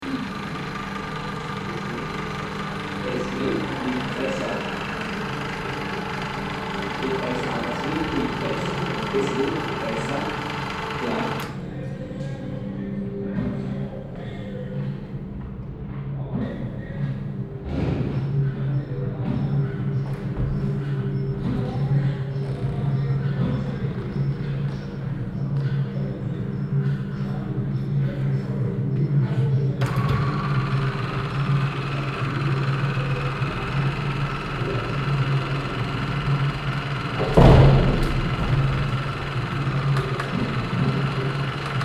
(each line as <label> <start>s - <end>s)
machine that starts to move 0.0s - 12.3s
machine that starts to move 29.8s - 41.8s